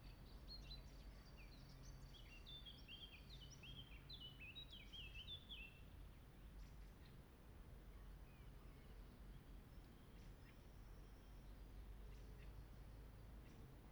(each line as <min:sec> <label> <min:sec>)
0:00.0 birds singing 0:05.8